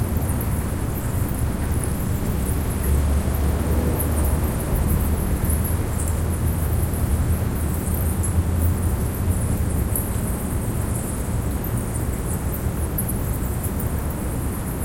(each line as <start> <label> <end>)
0.0 city ambience 14.8
0.0 distant truck pass 7.6